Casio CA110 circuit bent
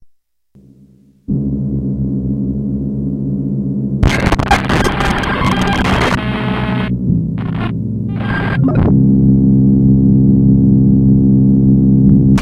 4.0s 8.6s

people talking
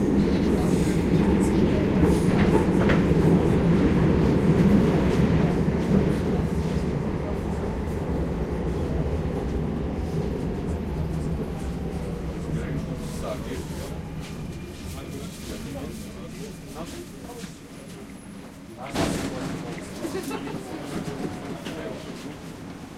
0.0s 4.3s, 11.1s 22.5s

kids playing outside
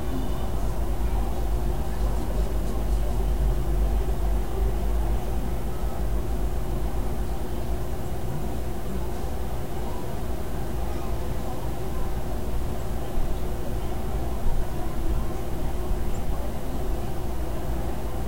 8.6s 18.0s

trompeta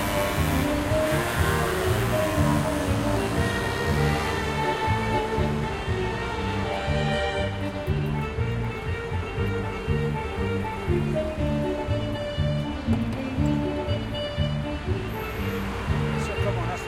0.0s 10.2s

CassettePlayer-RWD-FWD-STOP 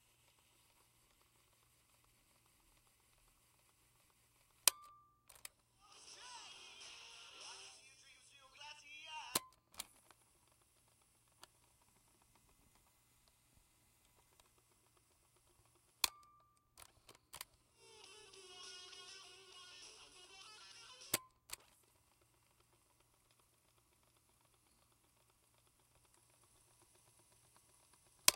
4.6s 12.9s, 16.8s 28.3s

